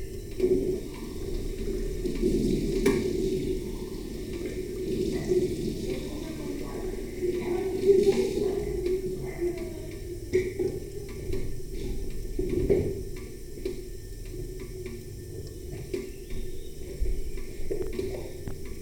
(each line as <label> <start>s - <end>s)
jesvah with coffee on electric panel 0.0s - 18.8s
teapot, citric acid, water 0.0s - 18.8s